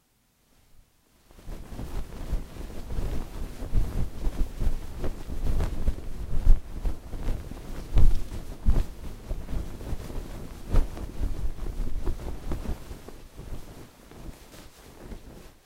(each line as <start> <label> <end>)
1.3 Slow Blanket Shaking 15.6